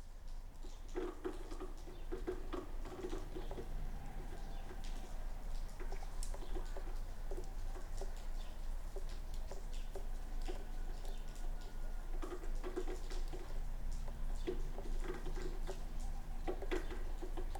0.0s rain 17.5s

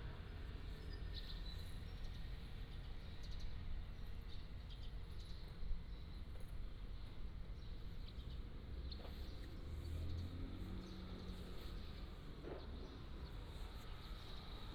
8.4s Traffic Sound 14.7s

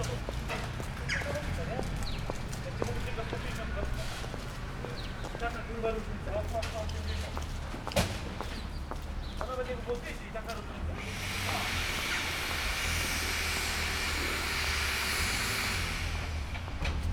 11.0s drilling 16.7s
11.0s power cutting 16.9s

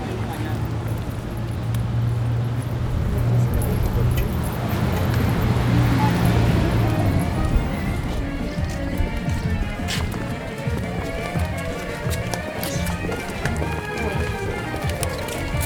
0.0s busy bus stop 15.6s
0.0s russian flags dance in the mild wind 15.6s
0.0s street dogs 15.6s
0.0s tourists 15.6s
0.0s traffic 15.6s

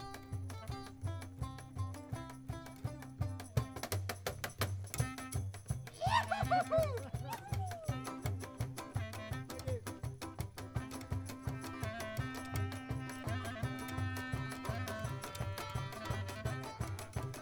0.0s cajón player 17.4s
0.0s contrabass 17.4s
7.8s saxophone player 17.4s

